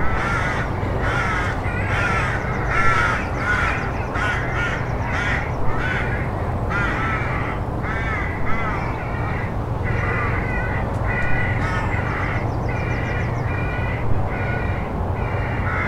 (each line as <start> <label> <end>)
0.0 crow babies were calling for food 15.8